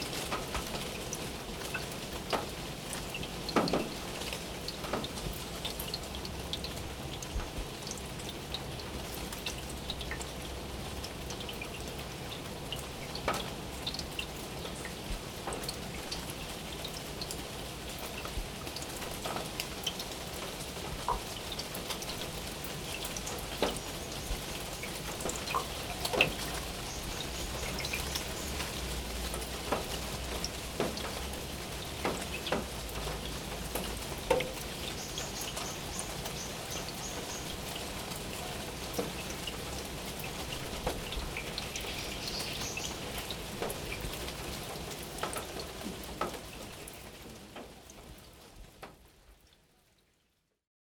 Rain drops on the roof of public toilet 0:00.0 - 0:50.7

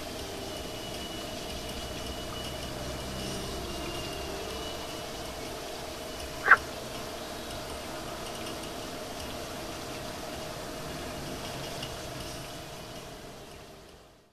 Frog 0:06.4 - 0:06.7

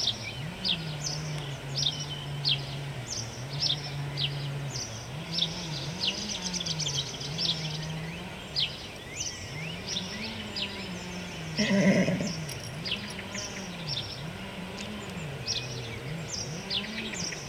Birds 0:00.0 - 0:17.4
pony 0:09.8 - 0:17.4

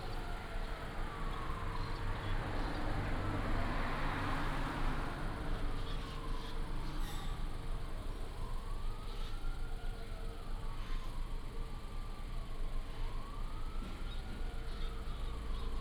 Traffic sound 0:00.0 - 0:10.4

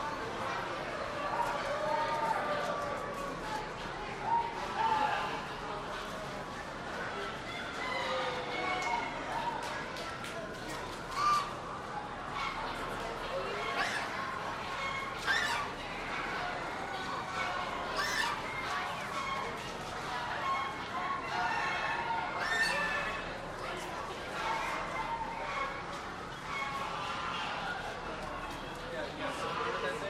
Other poultry are heard in the background 0:07.5 - 0:09.1
Other poultry are heard in the background 0:11.1 - 0:11.6
Other poultry are heard in the background 0:13.6 - 0:16.5
Other poultry are heard in the background 0:17.3 - 0:19.5
Other poultry are heard in the background 0:20.2 - 0:23.3
Other poultry are heard in the background 0:24.3 - 0:27.9
Other poultry are heard in the background 0:29.2 - 0:30.0

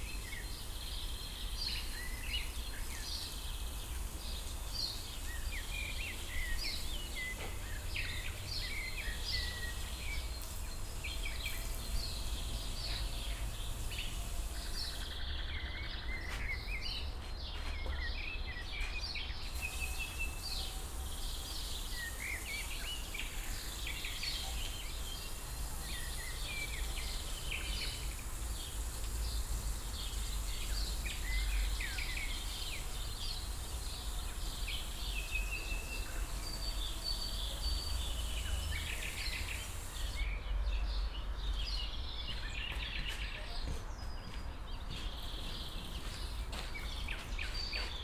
man watering garden 0:00.0 - 0:17.2
man watering garden 0:19.4 - 0:41.7
man watering garden 0:45.1 - 0:48.0

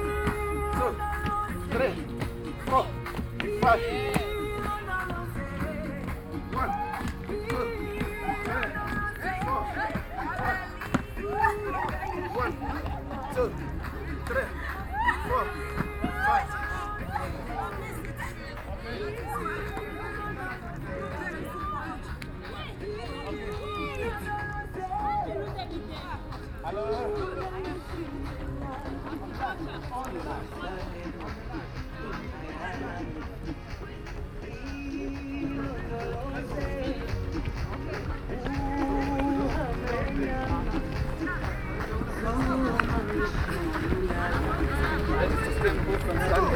exercise of jumping on steps 0:00.1 - 0:23.8

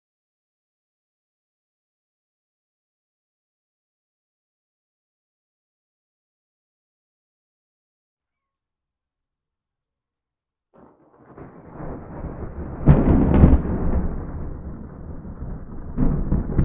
Big Thunder Storm 0:10.8 - 0:16.6

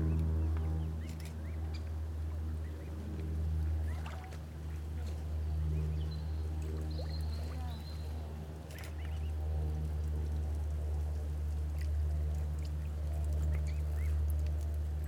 The public welcoming the arrival of six beautiful cygnets 0:05.5 - 0:08.3

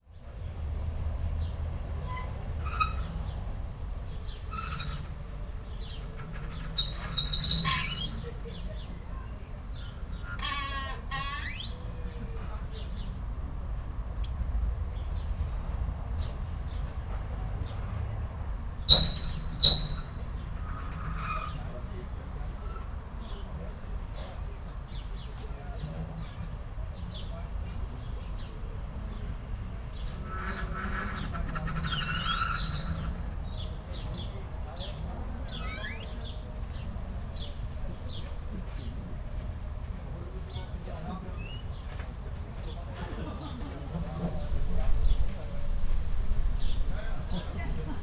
squeaking old ship moved by wind and waves 0:00.4 - 0:13.0
squeaking old ship moved by wind and waves 0:17.3 - 0:23.4
squeaking old ship moved by wind and waves 0:29.4 - 0:48.0

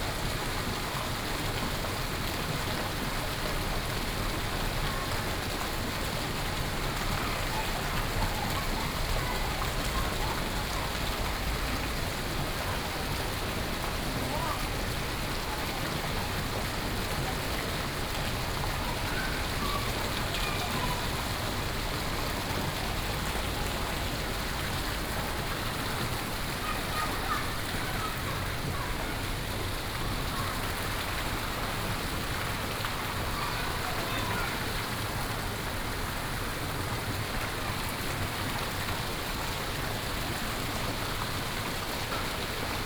Fountain 0:00.0 - 0:42.8

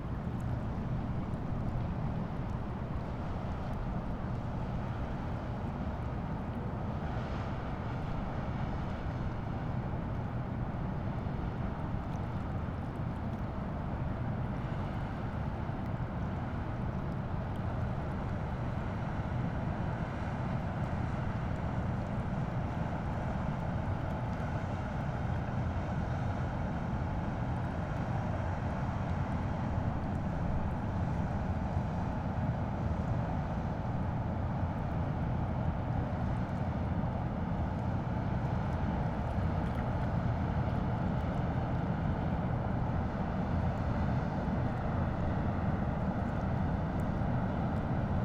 train 0:00.0 - 0:48.2

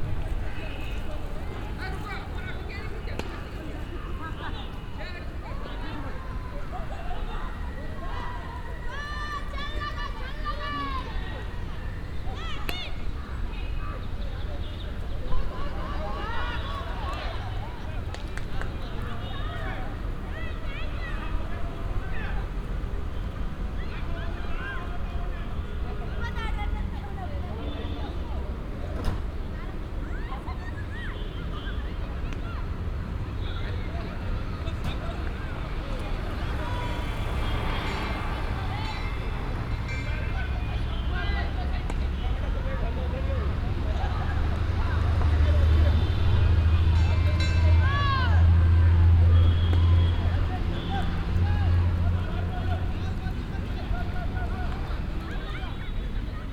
amateur teams playing parallel the national indian game 0:00.0 - 0:56.5

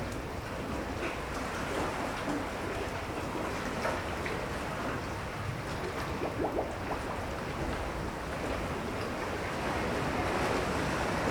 waves 0:00.0 - 0:11.3

